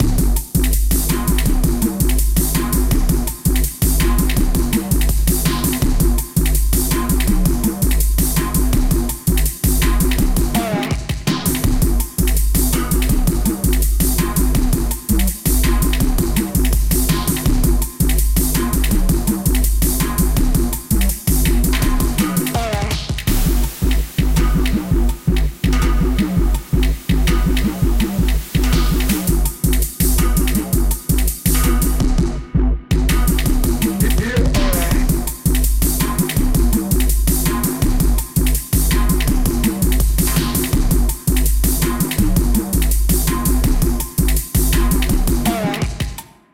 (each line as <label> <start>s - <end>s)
bass 0.0s - 46.2s
drum 0.0s - 46.5s
vocal samples 33.8s - 35.4s